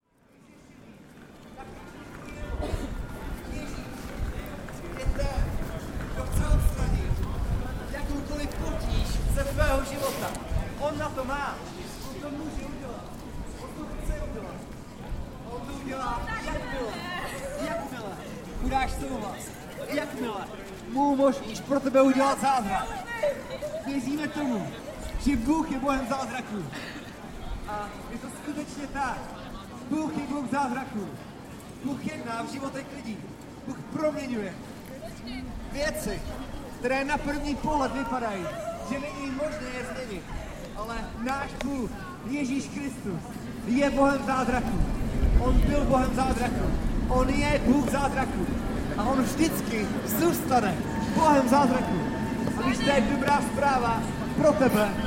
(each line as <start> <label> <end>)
35.7 street preacher 55.0